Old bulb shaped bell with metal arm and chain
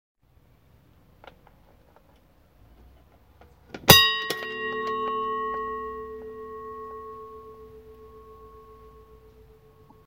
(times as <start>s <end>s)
3.9s 10.0s